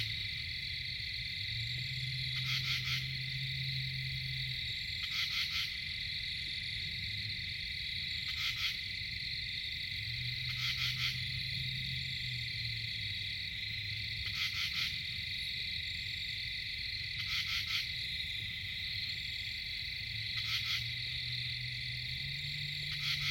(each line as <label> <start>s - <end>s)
hypnotic insect chatter 0.0s - 23.3s
long-ranged traffic noise 0.0s - 23.3s
screech owl 2.4s - 3.2s
screech owl 22.9s - 23.3s